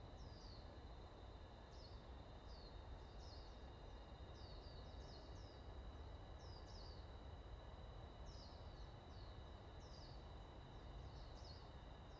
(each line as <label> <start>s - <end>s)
Wind 0.0s - 12.1s